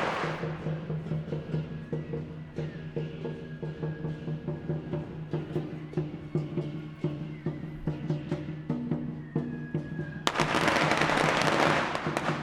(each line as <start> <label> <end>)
0.0 Firecrackers 3.6
8.2 Firecrackers 12.4